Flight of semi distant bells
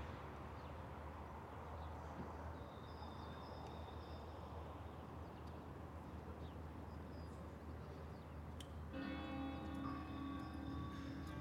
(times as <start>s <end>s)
8.9s 11.4s